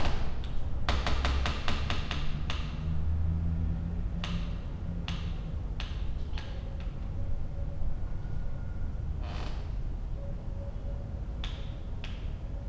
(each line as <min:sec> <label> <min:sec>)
0:09.2 creaky window 0:09.8